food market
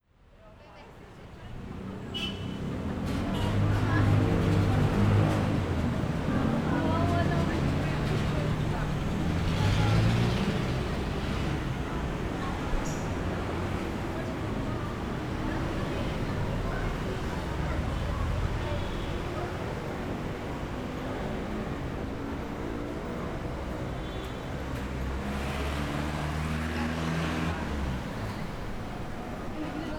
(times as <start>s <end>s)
2.2s 20.2s